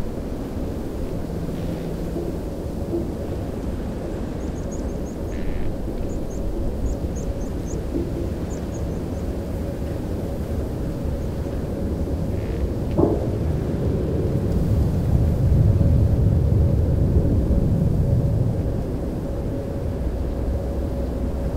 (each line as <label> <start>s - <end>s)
plane hum 0.0s - 21.5s